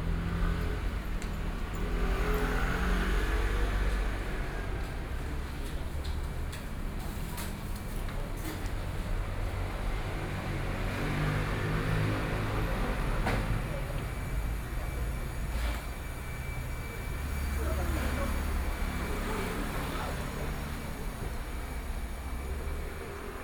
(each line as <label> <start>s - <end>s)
Traffic Sound 0.0s - 23.4s
Walking in the street 0.0s - 23.4s